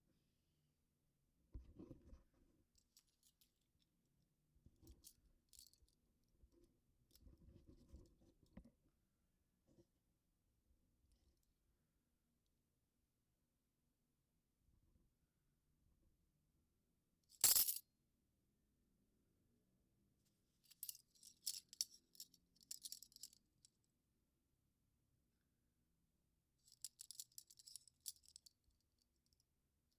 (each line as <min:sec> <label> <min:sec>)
0:17.4 handcuffs drop 0:17.8